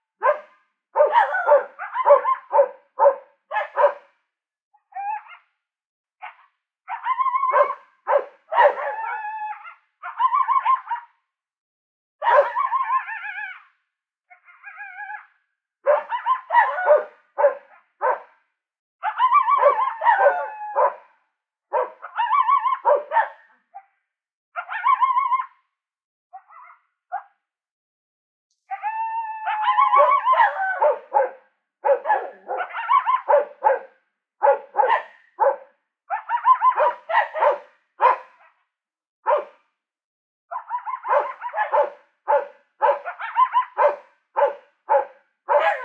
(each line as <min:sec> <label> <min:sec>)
0:00.2 barking ranch dogs 0:04.1
0:00.2 fairly close barking coyote 0:04.2
0:04.8 fairly close barking coyote 0:05.6
0:06.2 fairly close barking coyote 0:11.2
0:06.2 barking ranch dogs 0:11.1
0:12.2 fairly close barking coyote 0:13.6
0:12.2 barking ranch dogs 0:13.4
0:14.3 fairly close barking coyote 0:18.4
0:14.4 barking ranch dogs 0:18.4
0:19.0 fairly close barking coyote 0:23.9
0:19.0 barking ranch dogs 0:21.1
0:21.7 barking ranch dogs 0:23.9
0:24.6 fairly close barking coyote 0:25.6
0:26.3 fairly close barking coyote 0:27.4
0:29.4 fairly close barking coyote 0:38.6
0:29.5 barking ranch dogs 0:38.6
0:39.2 fairly close barking coyote 0:39.7
0:39.3 barking ranch dogs 0:39.6
0:40.5 fairly close barking coyote 0:45.8
0:40.5 barking ranch dogs 0:45.8